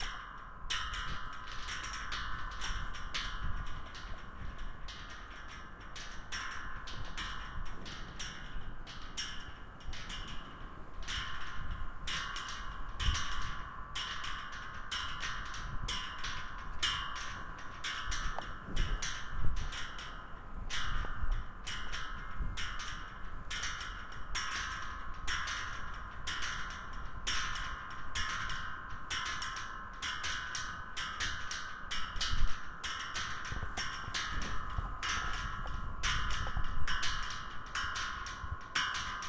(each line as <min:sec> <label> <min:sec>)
0:00.0 metal wire vibrating 0:39.2